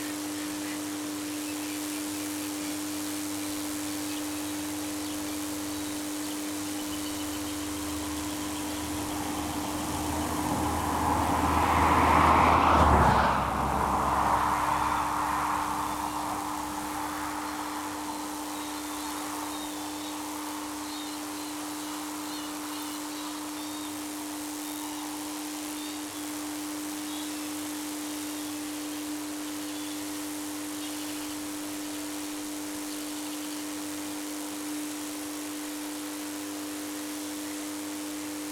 6.9s cars pass by 27.0s

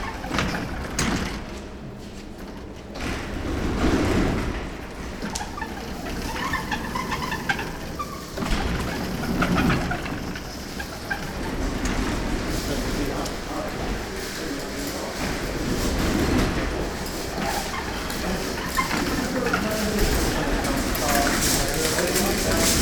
0.0s people moving in and out 22.8s
0.0s squeaking automatic door 22.8s

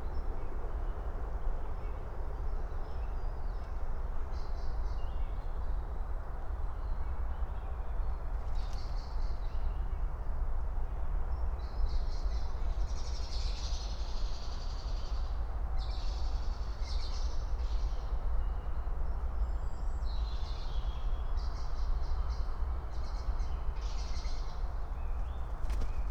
19.8s morning birds 26.1s

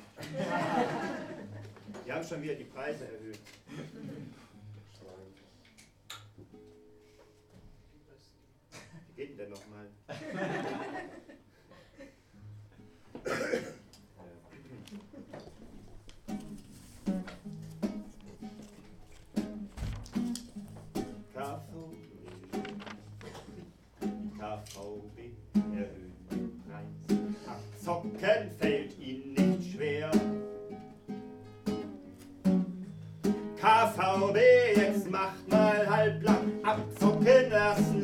21.3s poetry 30.5s
33.5s poetry 38.0s

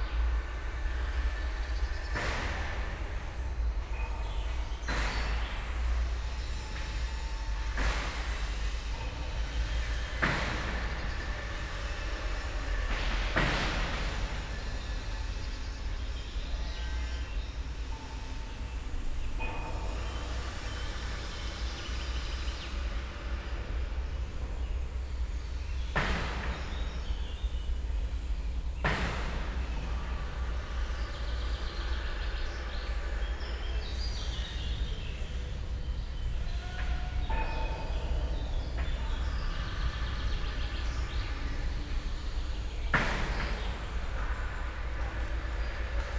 0.0s sounds from a nearby factory or metal workshop 46.1s

